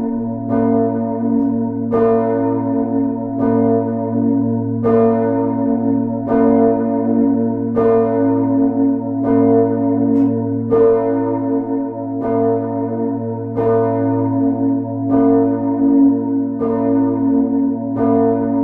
solo of the biggest bell 0:00.0 - 0:18.6

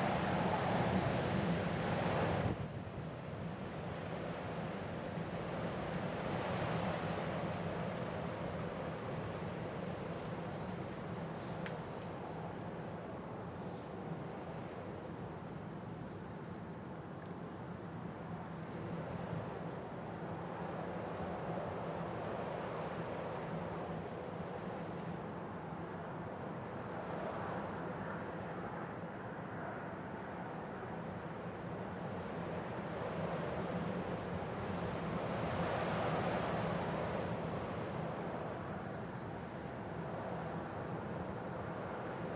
Wind 0:00.0 - 0:42.3

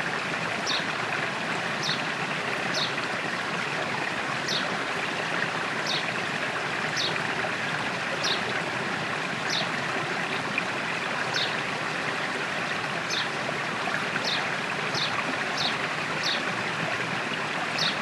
Small river 0:00.0 - 0:18.0
birds 0:00.6 - 0:00.9
birds 0:01.8 - 0:03.0
birds 0:05.8 - 0:06.1
birds 0:08.2 - 0:08.5
birds 0:09.4 - 0:09.7
birds 0:11.3 - 0:11.6
birds 0:13.0 - 0:16.5
birds 0:17.7 - 0:18.0

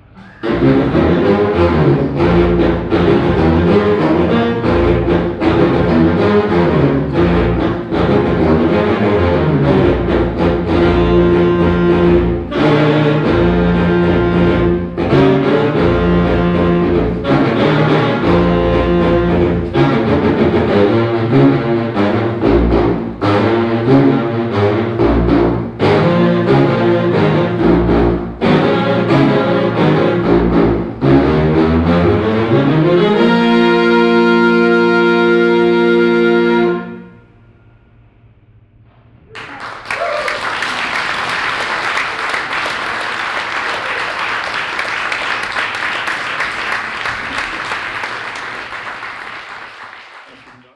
bass saxophone quartet 0:00.0 - 0:37.7
bass saxophone quartet 0:39.2 - 0:50.7
applause 0:39.3 - 0:50.7

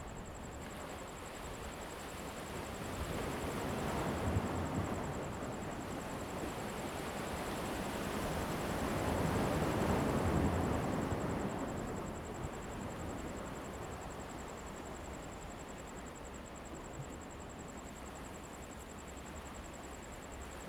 waves 0:00.1 - 0:20.6

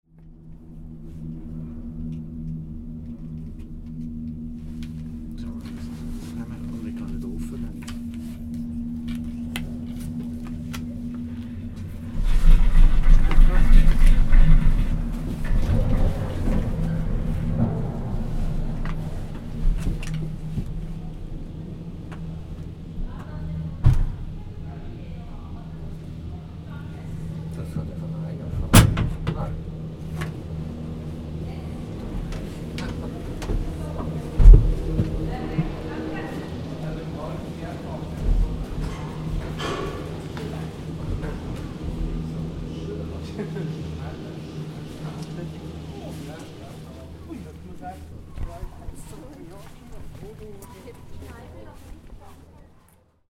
Ankunft mit der Seilbahn 0:00.2 - 0:53.0

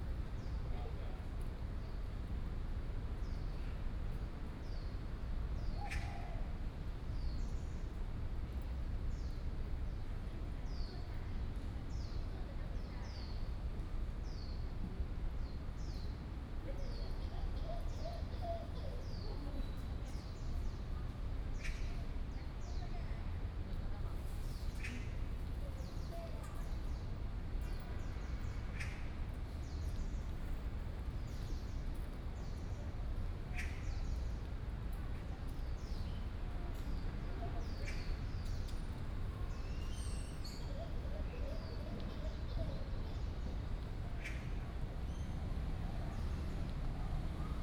Traffic Sound 0:41.4 - 0:47.6

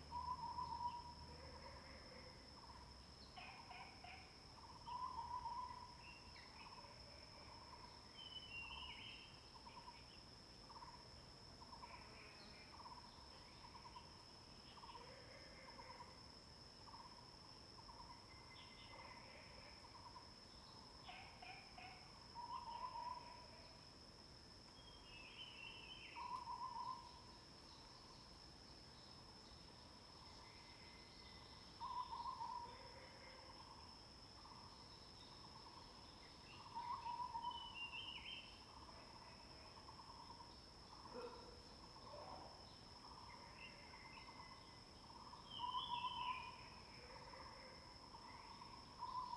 Frog sounds 0:21.0 - 0:23.7
Frog sounds 0:31.8 - 0:33.8

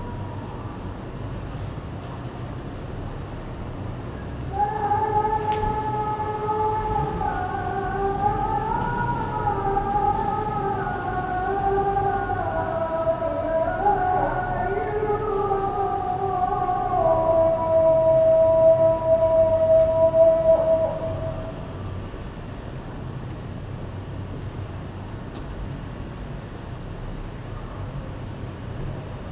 Singing of a Prayer 0:04.4 - 0:22.0

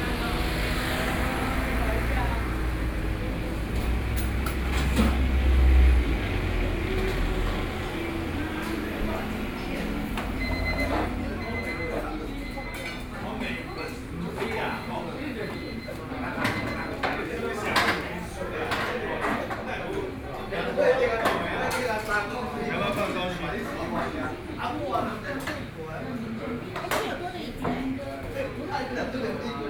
Traffic Sound 0:00.0 - 0:14.2

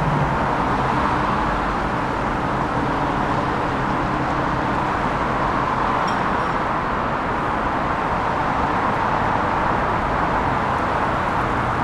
Heavy traffic 0:00.0 - 0:11.8

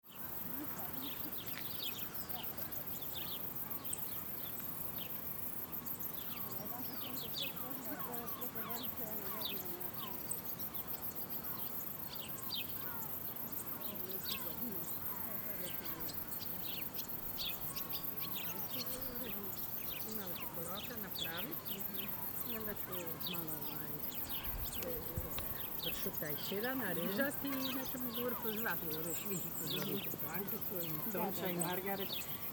crickets 0:00.0 - 0:32.5

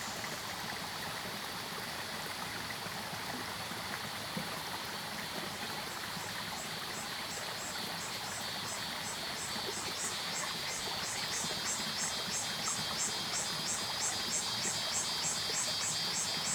Stream sound 0:00.0 - 0:16.5
Cicadas called 0:06.9 - 0:16.5
Frogs called 0:06.9 - 0:16.5

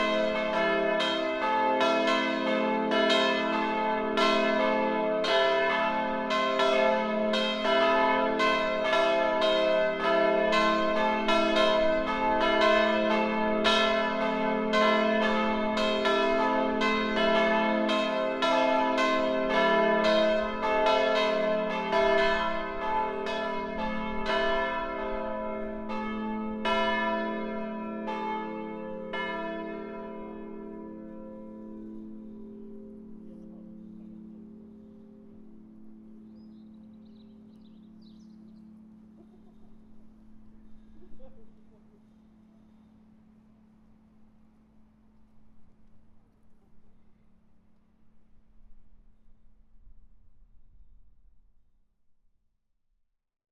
Bells 0:00.0 - 0:45.1

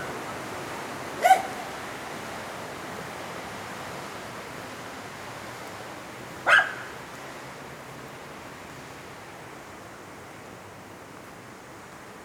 small barking dogs 0:01.2 - 0:01.6
small barking dogs 0:06.4 - 0:06.9

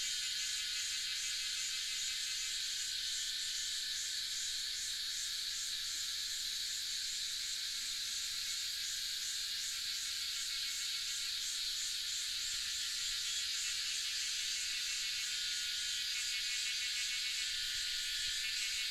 Cicada sounds 0:00.0 - 0:18.9

